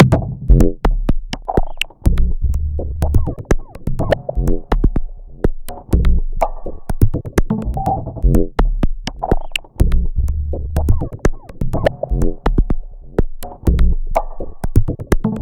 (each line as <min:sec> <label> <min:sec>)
0:01.3 clicking 0:02.0
0:09.1 clicking 0:09.8